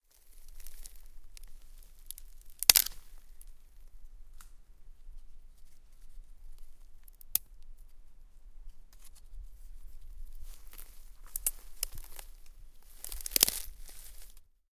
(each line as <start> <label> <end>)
0.3 Twigs snapping 3.5
7.0 Twigs snapping 7.7
10.4 Twigs snapping 14.4